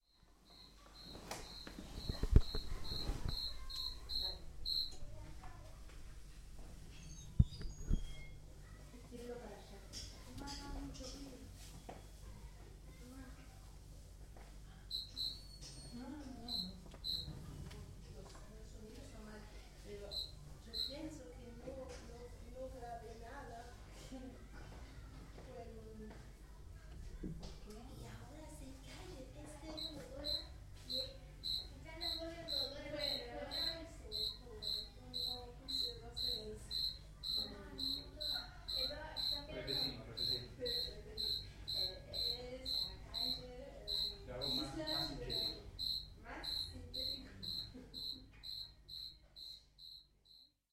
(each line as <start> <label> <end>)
0.0 family is preparing dinner 50.7
0.4 grillo en casa 12.4
14.7 grillo en casa 19.1
19.8 grillo en casa 22.4
27.6 grillo en casa 50.1